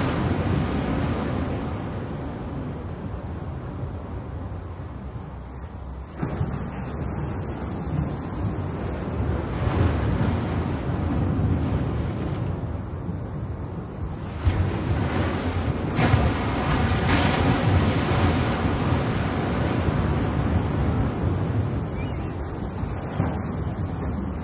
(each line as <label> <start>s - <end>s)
Waves hitting rocks 6.0s - 13.1s
Waves hitting rocks 13.8s - 24.4s